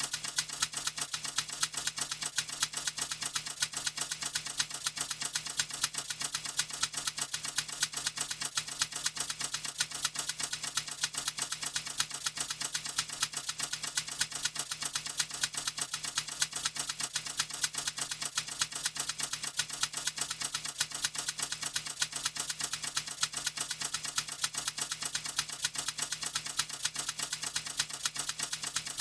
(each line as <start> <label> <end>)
0.0 typewriter rhythm 29.0